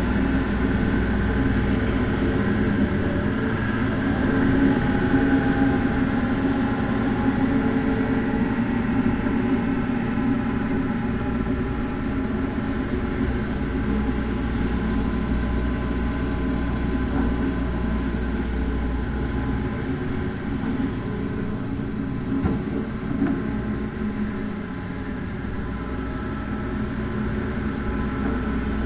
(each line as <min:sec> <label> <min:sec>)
0:00.0 Trucks 0:28.8
0:00.0 machinery building an apartment 0:28.8